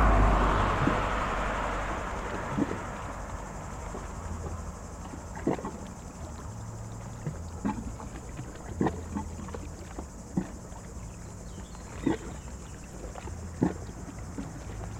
Bateaux sur le lac 0.0 - 14.9
Glouglous dans des cavités de la berge en rochers et ciment 2.4 - 14.9

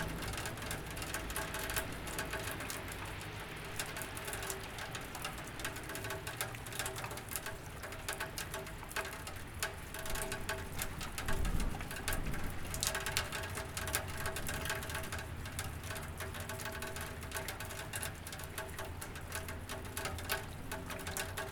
Water dripping from the gutter pipe 0.0 - 21.5

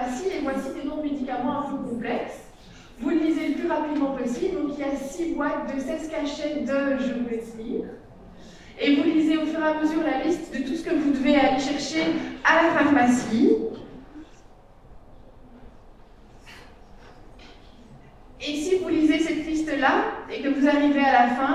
professors talking 0.0 - 14.6

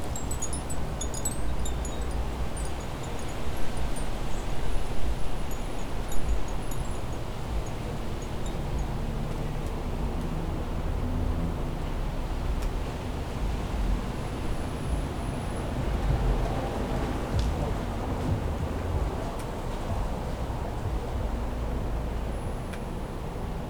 wind chimes 0.0 - 9.6
leaves 0.0 - 9.7
vehicles 0.0 - 23.6
people talking by the side of the road 13.8 - 22.4

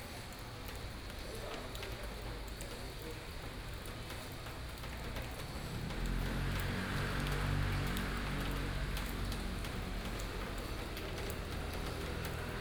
Rainy streets of the town 0.0 - 12.6

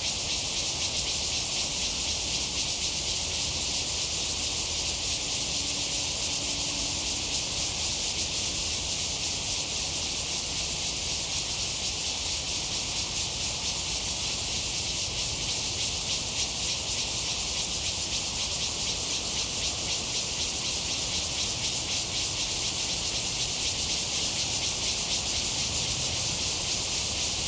Cicadas cry 0.0 - 27.4

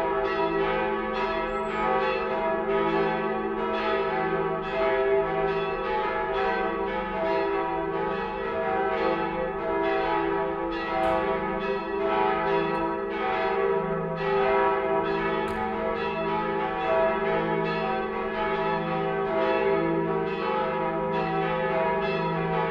cathedral bells 0.0 - 22.7

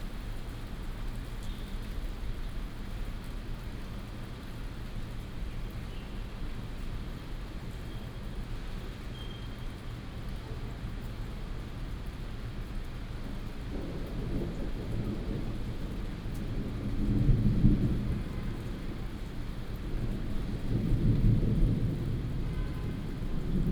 Thunder 13.7 - 23.7

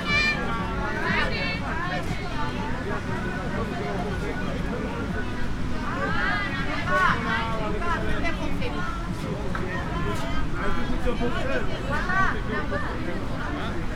low-music 0.0 - 13.9
people 0.0 - 13.9
the sea 0.0 - 13.9

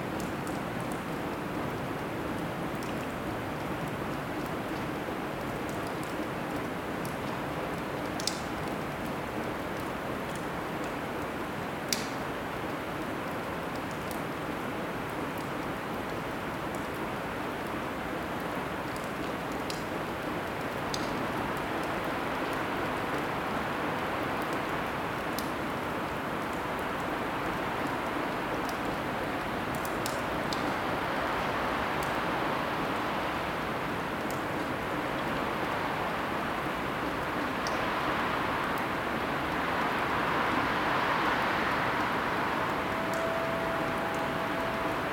water drops 41.4 - 45.1

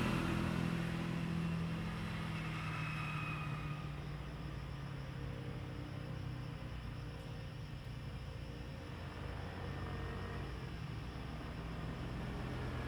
Traffic Sound 0.0 - 0.8

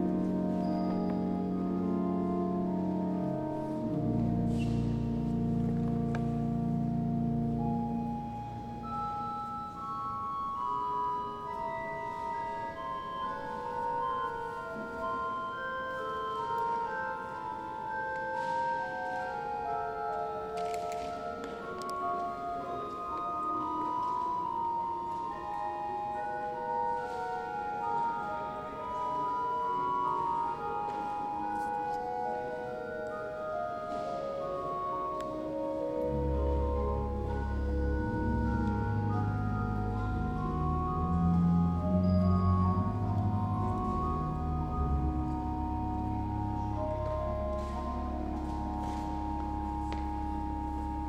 Organ 0.0 - 51.0

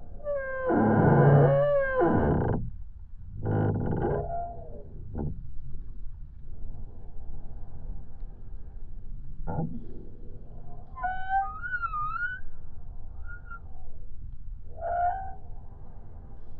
singing, moaning tree 9.5 - 14.1

